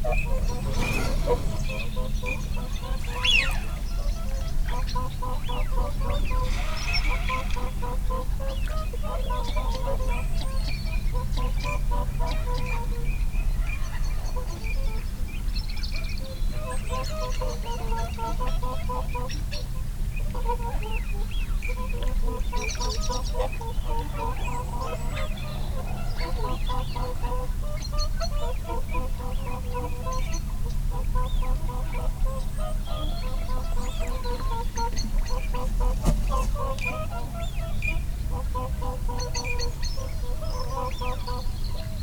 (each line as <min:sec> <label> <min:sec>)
0:00.0 song thrush 0:11.2
0:00.0 barnacle geese 0:42.0
0:00.0 canada geese 0:42.0
0:00.0 blackbird 0:19.6
0:00.2 wing noise from incoming birds 0:03.8
0:34.0 wing noise from incoming birds 0:37.6